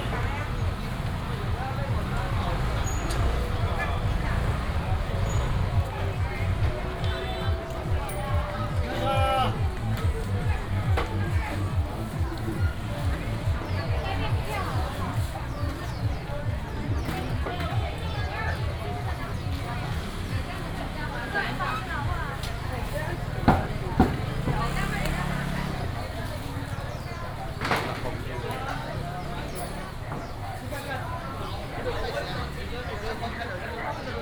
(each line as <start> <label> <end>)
0.0 Many motorcycles 34.2
0.0 Traffic sound 34.2
0.0 Walking through the traditional market 34.2